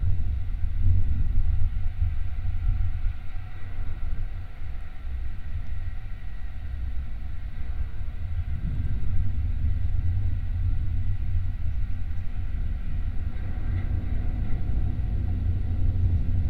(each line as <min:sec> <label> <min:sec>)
0:07.5 metallic constructions of some abandoned light tower 0:16.4